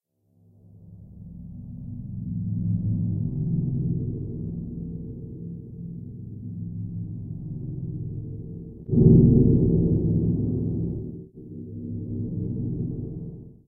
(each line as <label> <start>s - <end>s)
Thunder sound synthesized from a randomly generated tone 2.2s - 13.6s